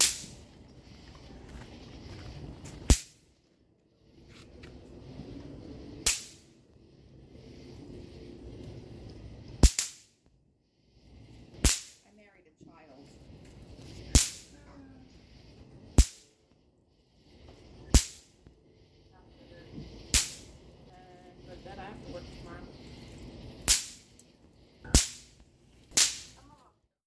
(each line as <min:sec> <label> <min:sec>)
0:11.6 Snappers snapping 0:12.0
0:13.7 Distant cicadas 0:24.9
0:23.7 Snappers snapping 0:24.0
0:25.9 Snappers snapping 0:26.4